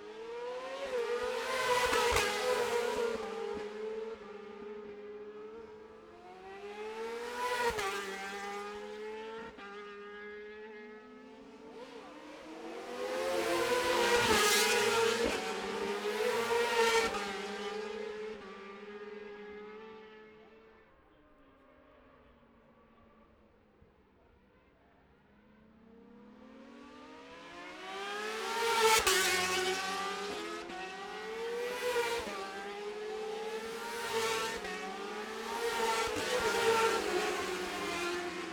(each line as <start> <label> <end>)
0.0 road racing 23.4
24.2 road racing 38.5